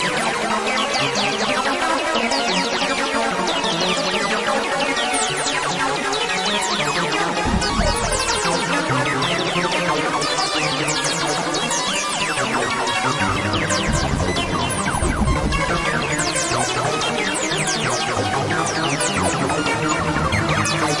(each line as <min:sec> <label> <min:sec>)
0:07.3 acid 303 arp 0:09.8
0:10.5 acid 303 arp 0:20.9